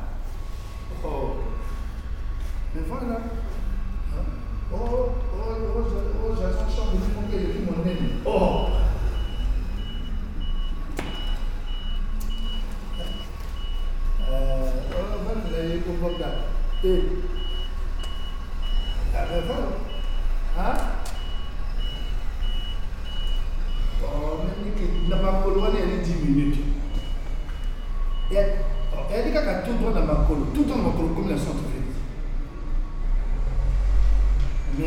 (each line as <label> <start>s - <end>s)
People discussing with their phone 0.3s - 32.6s